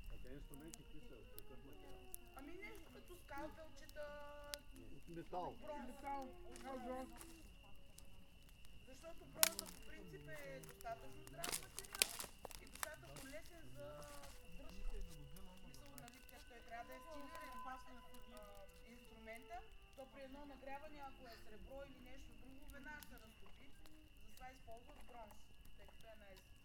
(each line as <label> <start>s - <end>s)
They talk about thracian heritage 0.0s - 26.6s
camping fire 0.0s - 26.6s
night sounds of the crickets 0.0s - 26.6s
One lady plays the flute 14.1s - 20.1s